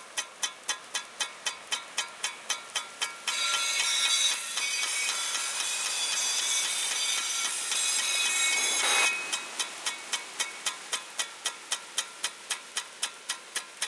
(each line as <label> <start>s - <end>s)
sprinkler agricultural water spray1 0.0s - 13.8s